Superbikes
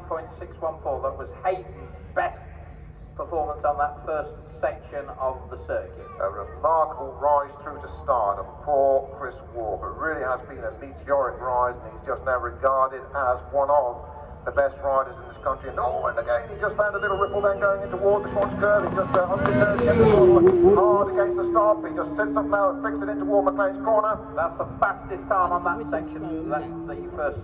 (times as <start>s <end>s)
14.0s 27.4s